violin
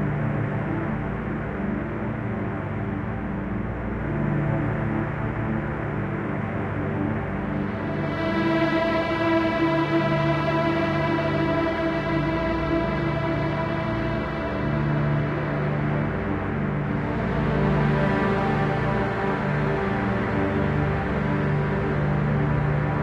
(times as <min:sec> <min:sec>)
0:07.6 0:23.0